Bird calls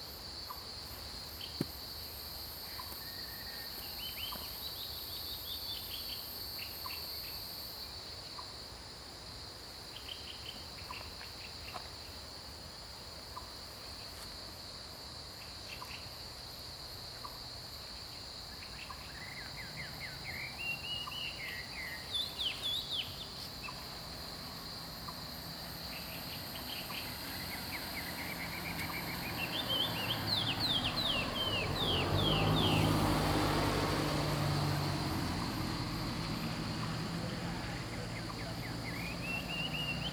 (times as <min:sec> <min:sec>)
0:25.9 0:33.0, 0:37.2 0:40.1